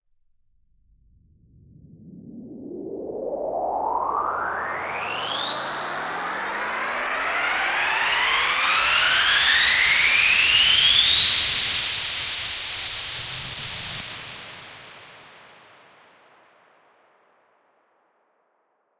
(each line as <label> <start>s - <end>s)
Riser Noise 3.0s - 13.7s